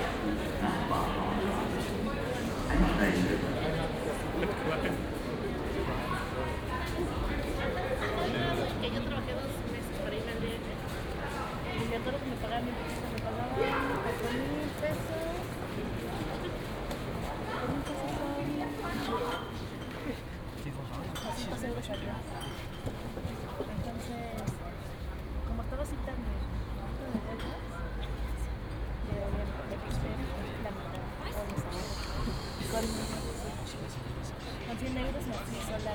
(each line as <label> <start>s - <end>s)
weekend crowd waiting for the train 0.0s - 35.9s